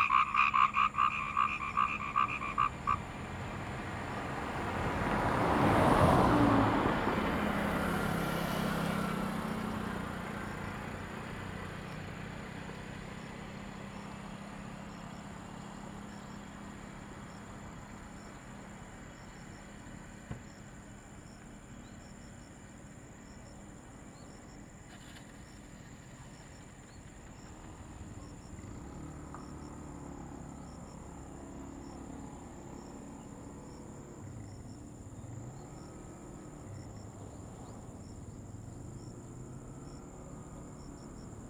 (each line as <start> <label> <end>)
0.0 Frogs sound 6.0
0.0 Traffic Sound 41.4